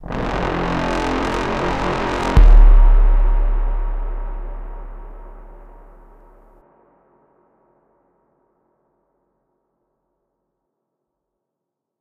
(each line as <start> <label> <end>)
0.0 Bass 6.5
0.0 Trombone 5.9